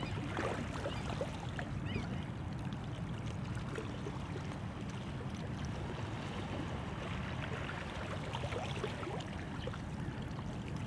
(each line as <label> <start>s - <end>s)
sea 0.0s - 10.8s
sounds of harbou in background 0.0s - 10.8s